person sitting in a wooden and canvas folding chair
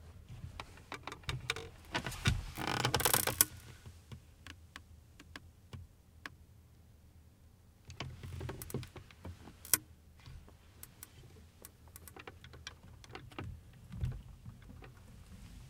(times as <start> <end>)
0.0 4.6, 7.9 15.6